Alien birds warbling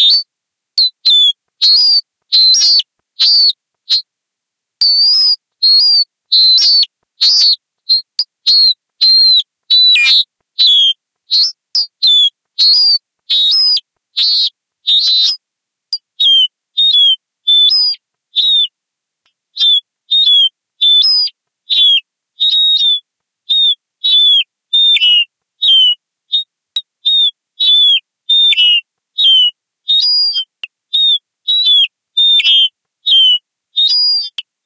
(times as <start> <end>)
9.8 10.8